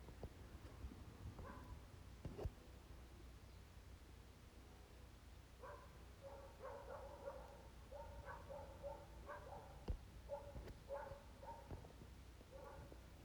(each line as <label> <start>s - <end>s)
Dog barking in the distance 1.4s - 1.8s
Dog barking in the distance 5.6s - 13.1s